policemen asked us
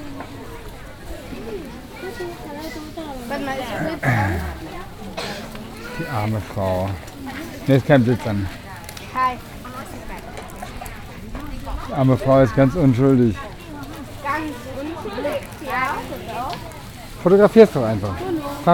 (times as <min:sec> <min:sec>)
0:02.1 0:05.2